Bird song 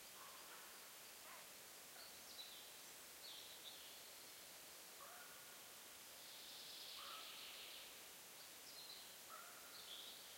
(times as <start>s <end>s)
2.0s 4.2s, 6.2s 10.3s